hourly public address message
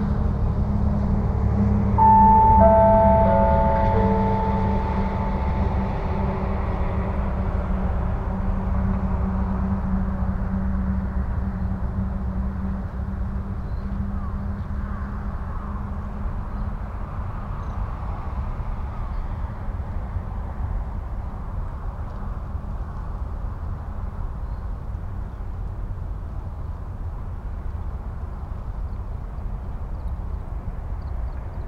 0:02.0 0:06.8

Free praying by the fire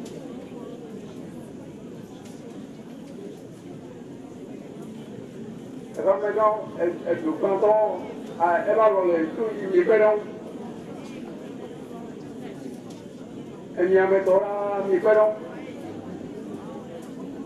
0:13.7 0:16.0

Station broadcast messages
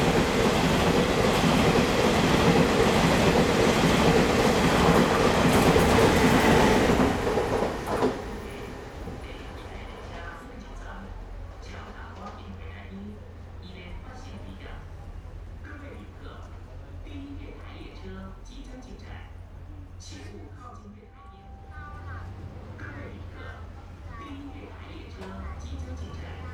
0:20.9 0:26.5

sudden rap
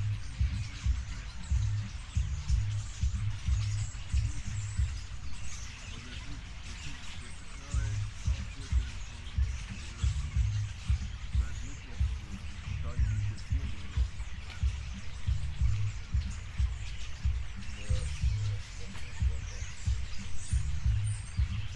0:07.6 0:21.7

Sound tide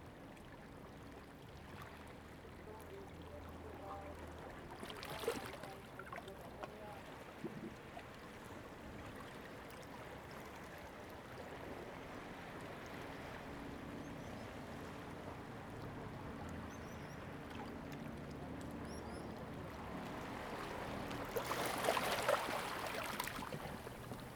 0:12.0 0:24.3

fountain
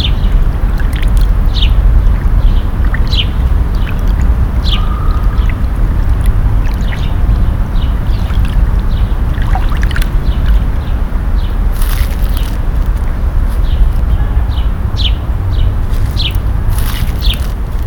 0:00.0 0:12.9

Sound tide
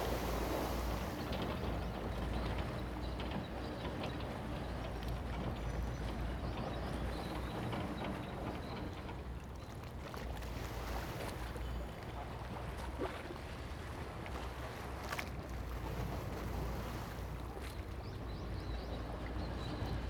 0:00.0 0:03.1

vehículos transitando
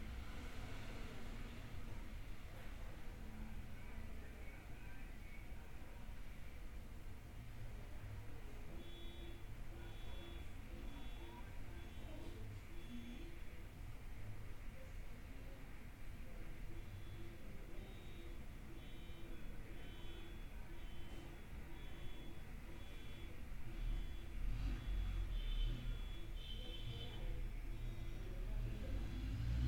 0:21.0 0:29.6

